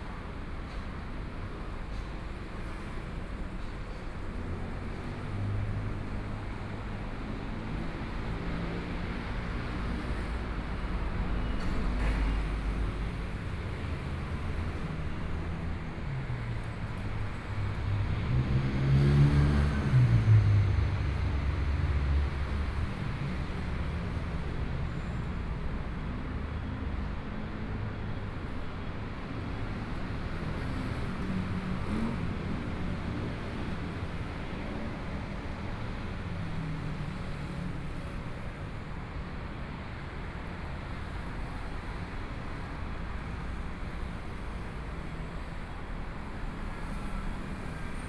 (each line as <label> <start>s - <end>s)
Construction site sounds 0.0s - 48.0s
Pedestrians 0.0s - 48.0s
Traffic Sound 0.0s - 48.0s